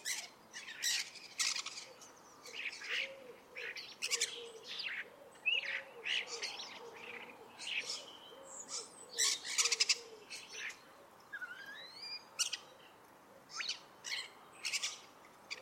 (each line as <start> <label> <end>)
0.0 woodpigeon 10.8
0.0 starlings 15.6